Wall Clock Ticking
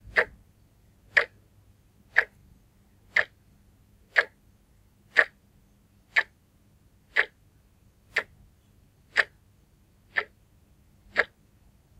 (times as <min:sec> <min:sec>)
0:02.1 0:02.4, 0:03.1 0:03.4, 0:04.1 0:04.4, 0:05.2 0:05.4, 0:06.1 0:06.3, 0:07.1 0:07.4, 0:09.1 0:09.4, 0:10.1 0:10.4, 0:11.1 0:11.4